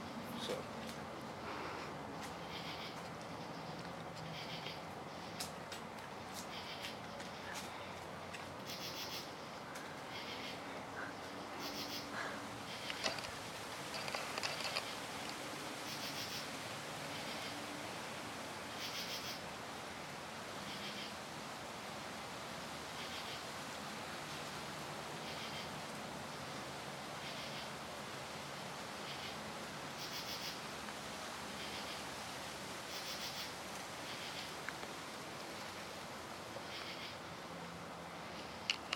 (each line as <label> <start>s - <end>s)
crickets 8.6s - 17.6s
Wind blowing 9.2s - 15.7s
crickets 18.7s - 19.4s
crickets 30.0s - 30.6s
crickets 32.8s - 34.6s